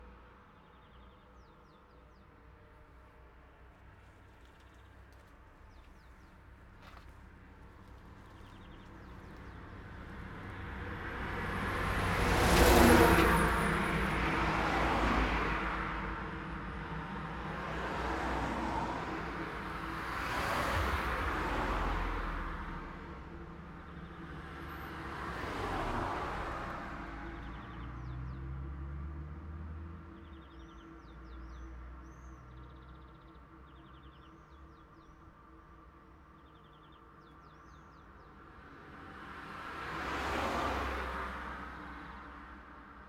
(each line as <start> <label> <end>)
0.0 Emerging and decaying traffic sounds 43.0